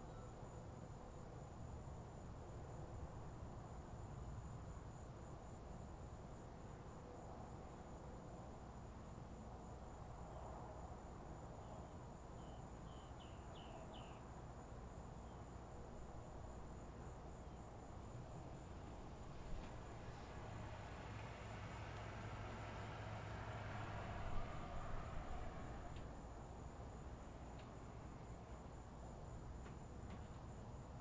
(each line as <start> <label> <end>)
18.8 rain 26.2